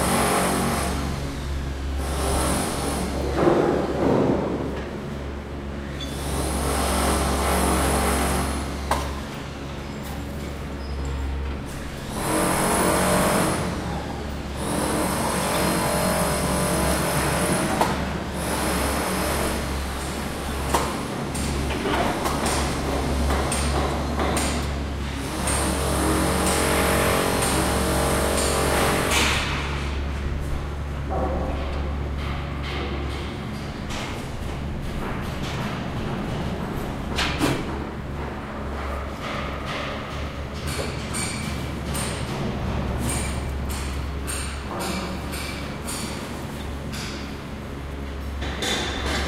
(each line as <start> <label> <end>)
0.0 other construction noises 49.2